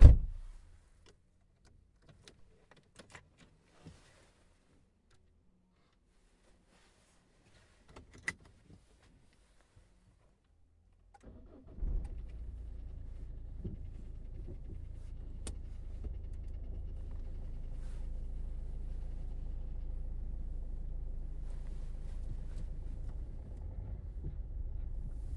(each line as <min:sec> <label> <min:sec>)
0:11.0 Sound from inside the car 0:25.3
0:11.1 open the windows 0:25.3